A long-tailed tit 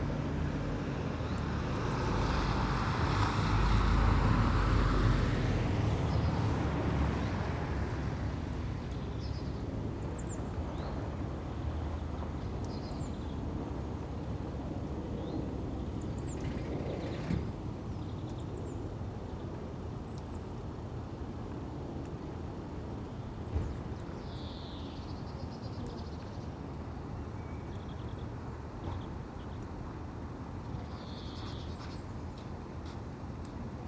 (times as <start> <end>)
23.6 26.6, 30.7 32.1